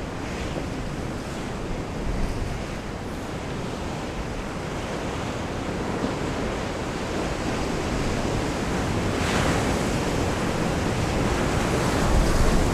wild waves crush into the rocks 0.0 - 12.7

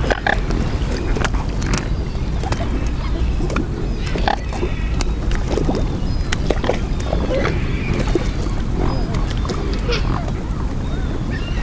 gathering of swans 0.0 - 11.6
motor boat passes 0.0 - 11.6

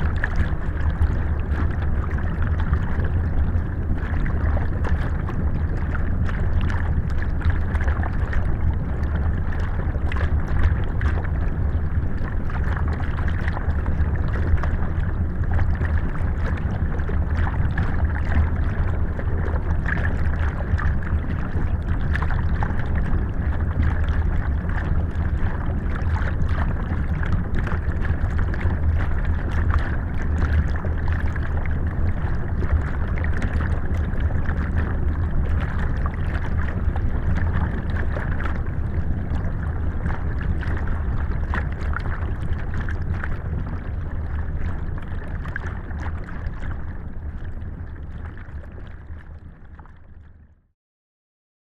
Small dam 0.0 - 49.2

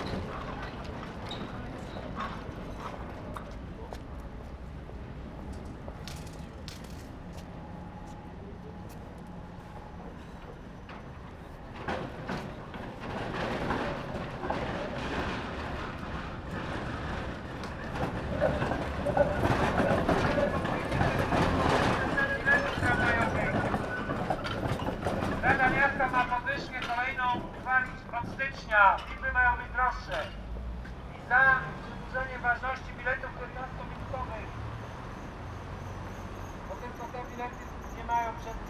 passing trams 0.0 - 38.6
people going in all directions 0.0 - 38.6
protesters 13.0 - 30.2

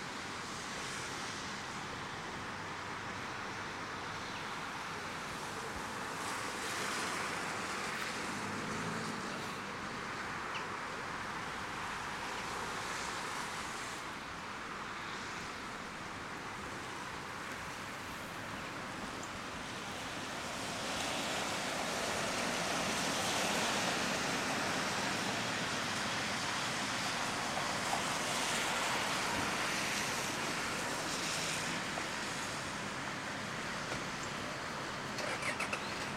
Highway 0.0 - 36.1

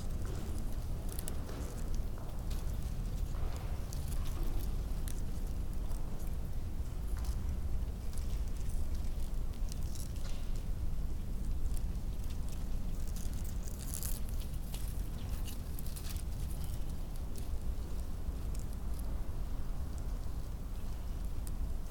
wind rips right through the space 0.0 - 21.9

